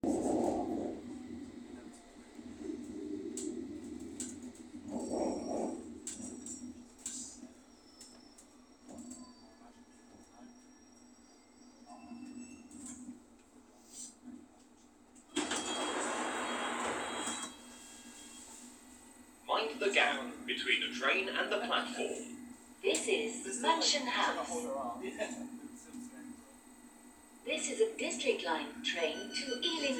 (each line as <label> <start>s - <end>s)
standard announcement 19.4s - 24.8s
standard announcement 27.5s - 29.9s